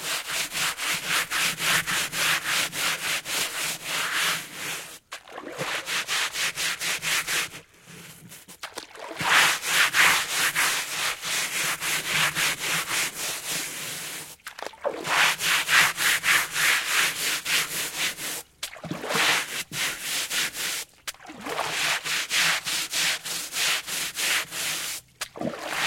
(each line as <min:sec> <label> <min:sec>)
0:00.0 Washing a rug with a brush 0:25.8